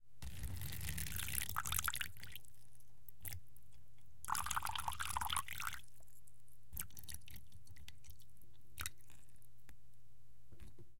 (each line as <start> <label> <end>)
0.2 Pouring Water 2.5
4.3 Pouring Water 5.9